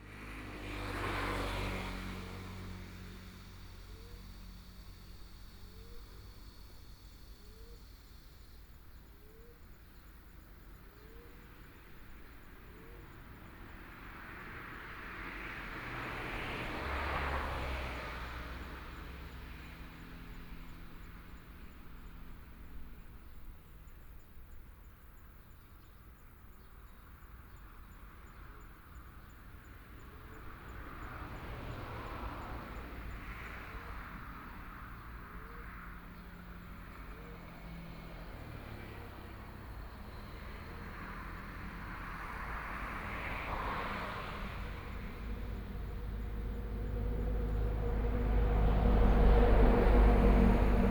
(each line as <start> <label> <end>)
0.0 Traffic Sound 50.9
18.9 Birdsong sound 31.0